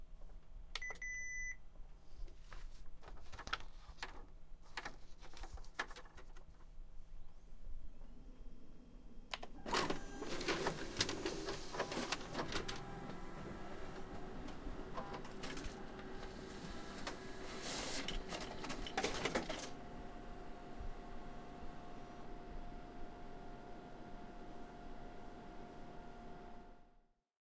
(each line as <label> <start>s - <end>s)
office copier being used 9.3s - 26.8s